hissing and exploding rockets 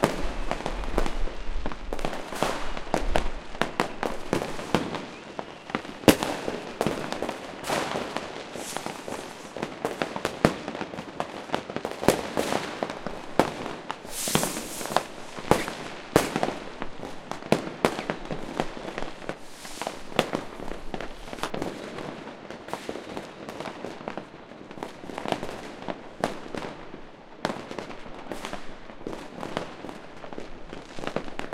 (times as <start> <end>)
0.0 22.0